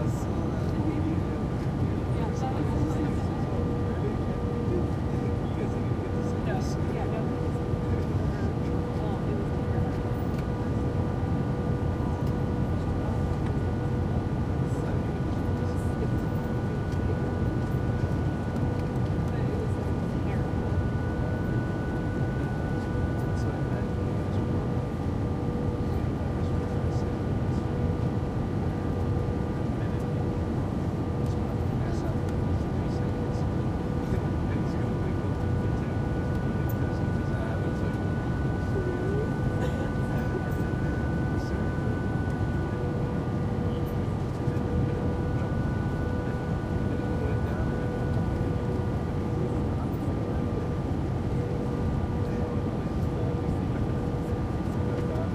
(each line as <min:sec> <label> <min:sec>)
0:00.0 engine whine 0:55.3
0:00.0 plane touches down on the runway 0:55.3
0:00.0 british youths can be heard softly chatting 0:55.3